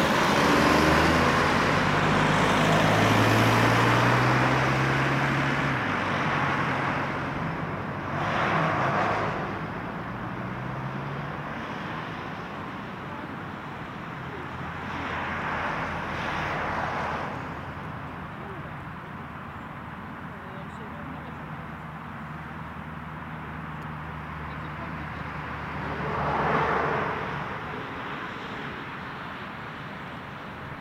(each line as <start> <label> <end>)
0.0 Cars going away from the parking 30.8
0.0 other cars and trucks passing by on the road 30.8